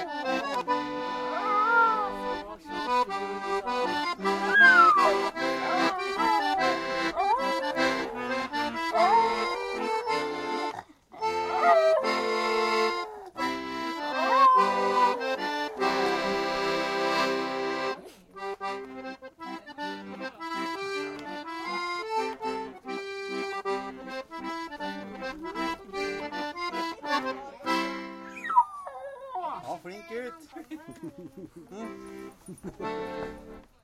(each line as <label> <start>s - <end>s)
Voices in background 0.0s - 11.2s
accordion is being played 0.0s - 28.6s
Dog singing 4.4s - 13.3s
Dog singing 14.1s - 16.4s
Voices in background 14.1s - 22.9s
Voices in background 25.0s - 33.8s
accordion is being played 29.6s - 33.8s
laughter 30.6s - 33.3s